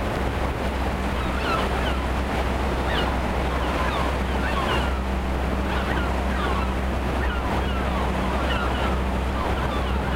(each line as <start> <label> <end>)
0.0 Windy day 10.1
0.0 sea 10.1
1.1 seagulls flying 10.1